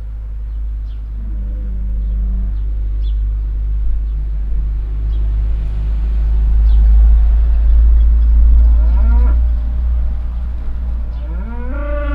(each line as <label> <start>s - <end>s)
birds chirping 0.0s - 5.5s
Cars passing by in the nearby street 0.0s - 12.1s
constantly loud mooing cow 0.7s - 6.6s
birds chirping 6.6s - 12.1s
constantly loud mooing cow 8.4s - 9.8s
constantly loud mooing cow 11.0s - 12.1s
rooster call 11.2s - 12.1s